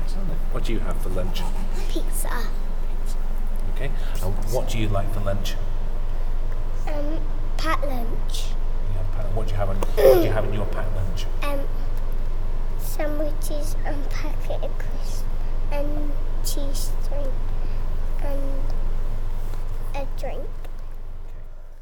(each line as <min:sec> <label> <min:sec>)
0:09.8 talking 0:11.7